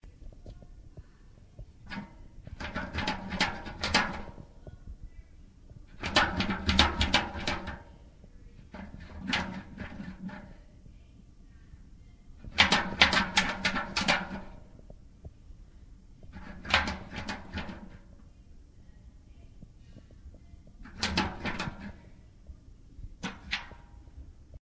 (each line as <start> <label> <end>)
1.8 rattling a metal bucket by the handle 4.6
5.9 rattling a metal bucket by the handle 10.7
12.4 rattling a metal bucket by the handle 14.9
16.2 rattling a metal bucket by the handle 18.2
20.8 rattling a metal bucket by the handle 22.2
23.1 rattling a metal bucket by the handle 24.2